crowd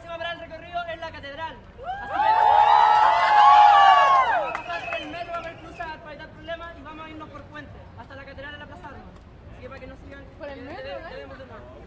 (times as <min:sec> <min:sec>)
0:00.0 0:08.3